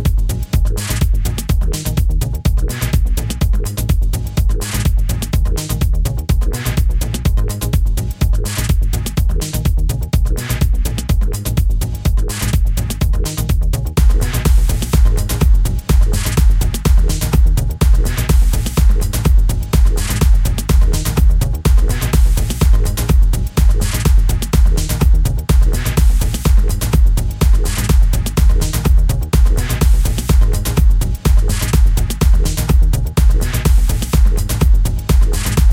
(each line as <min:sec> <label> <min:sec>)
0:00.0 running music 0:35.7